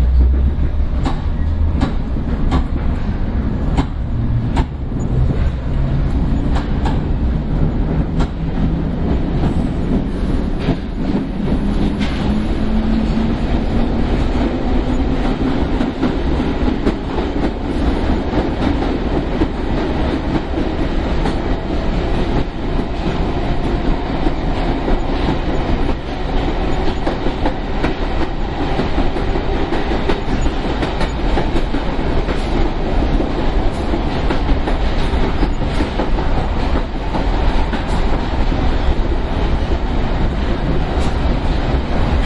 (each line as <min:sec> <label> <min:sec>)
0:00.0 train 0:42.2